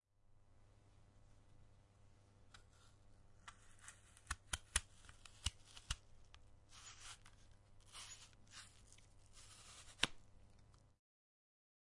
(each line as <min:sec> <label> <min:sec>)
0:02.6 Cutting an Apple in pieces, with a knife 0:10.8